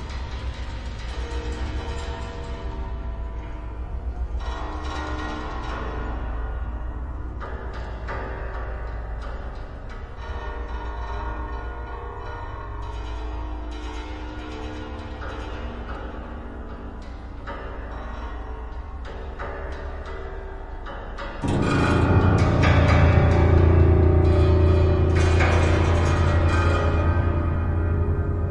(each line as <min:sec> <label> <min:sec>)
0:21.4 detuned strings were scraped and struck 0:28.5